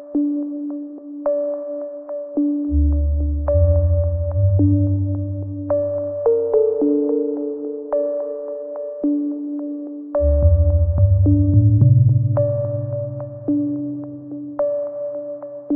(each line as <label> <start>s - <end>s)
synth pads 9.0s - 15.7s